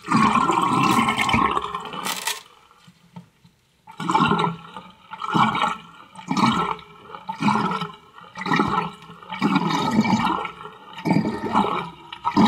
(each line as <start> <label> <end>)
0.0 gurgling sounds 2.3
0.0 Water In Sink 2.8
3.8 Water In Sink 12.4
3.9 gurgling sounds 12.4